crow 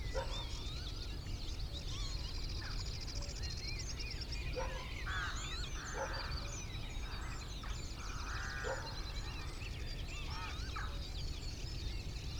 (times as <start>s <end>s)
4.8s 9.5s